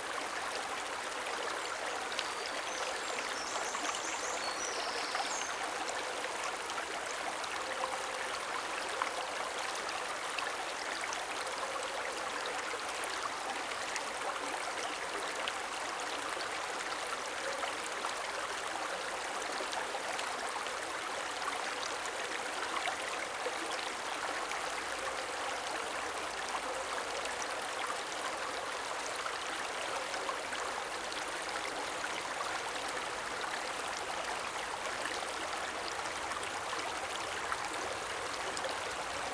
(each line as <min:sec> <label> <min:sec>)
0:00.0 eschbach creek 0:39.3